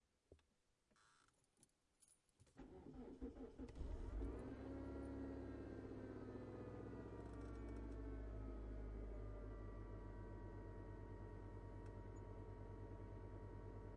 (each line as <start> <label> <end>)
2.6 Starting the car 9.3